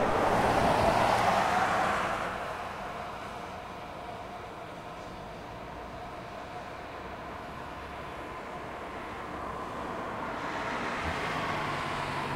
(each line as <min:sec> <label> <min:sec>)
0:00.0 Traffic noise of vehicles driving by 0:12.3